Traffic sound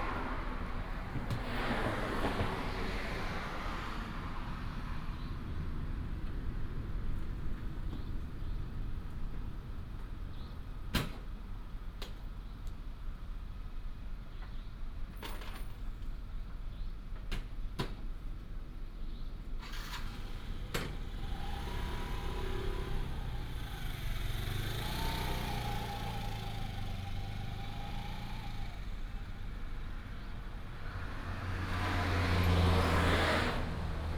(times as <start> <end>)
0.0 12.4, 19.5 34.1